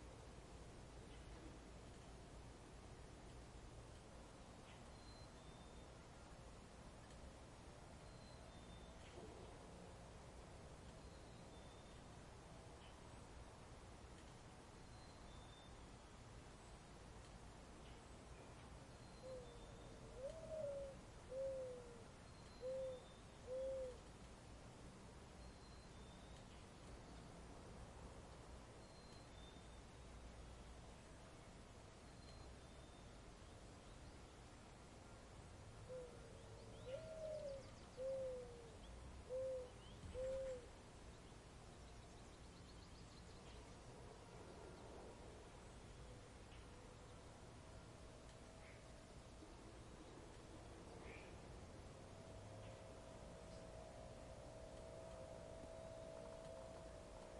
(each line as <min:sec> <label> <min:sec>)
0:00.0 distant traffic 0:57.3
0:00.0 light wind 0:57.3
0:17.8 American Mourning Dove calling 0:24.3
0:35.7 American Mourning Dove calling 0:57.3